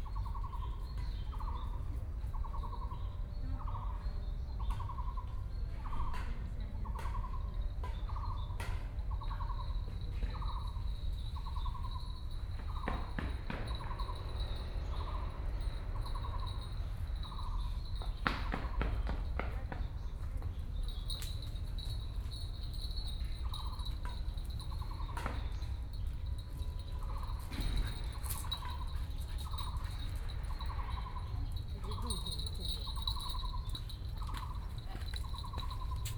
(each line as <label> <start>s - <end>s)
Birdsong 0.0s - 36.1s